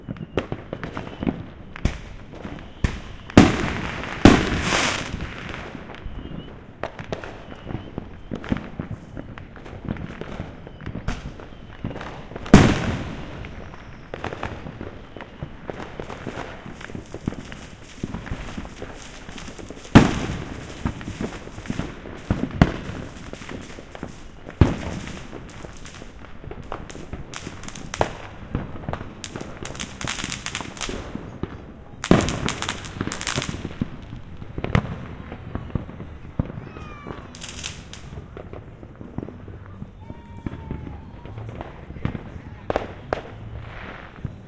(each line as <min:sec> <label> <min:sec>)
0:00.0 Fireworks going off 0:44.4